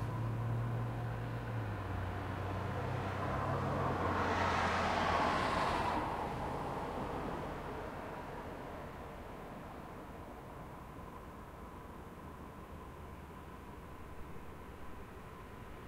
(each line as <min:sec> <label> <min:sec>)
0:00.0 Traffic noise of vehicles driving by 0:15.8